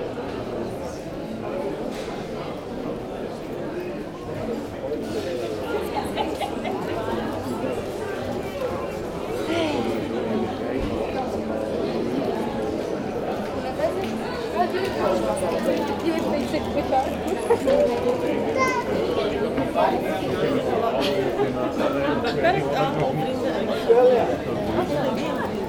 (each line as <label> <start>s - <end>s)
people enjoy the sun and discuss quietly 0.0s - 25.6s